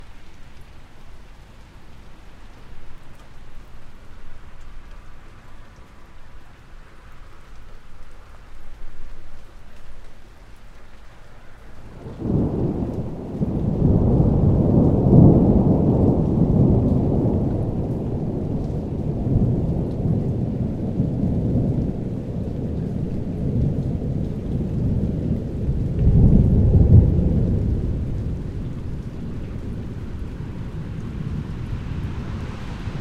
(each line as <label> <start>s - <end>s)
Rain 0.0s - 33.0s
Thunder 11.9s - 33.0s